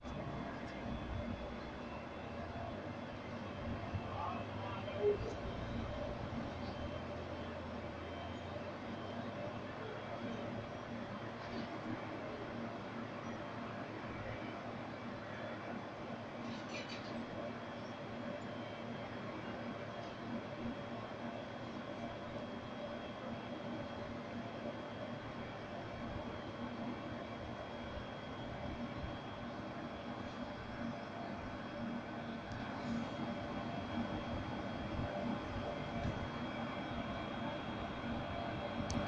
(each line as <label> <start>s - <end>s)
Air Conditioner 18.2s - 39.0s